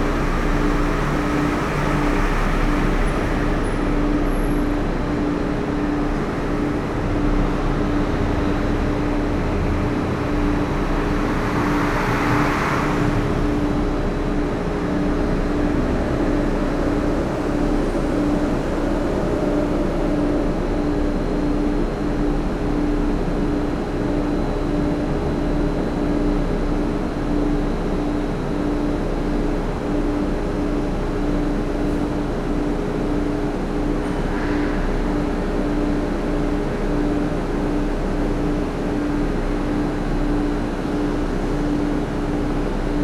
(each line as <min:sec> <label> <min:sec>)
0:00.0 Heavy layered drone in the stairwell 0:43.0